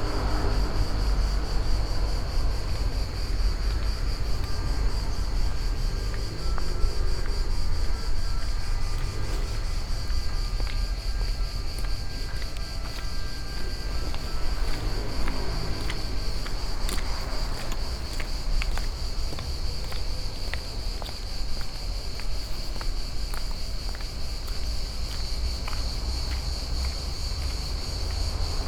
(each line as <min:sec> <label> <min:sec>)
0:00.0 roaring motorbikes 0:18.9
0:00.0 approaching ambulance 0:28.6
0:00.0 heavyweight crickets 0:28.6
0:00.0 street noise 0:28.6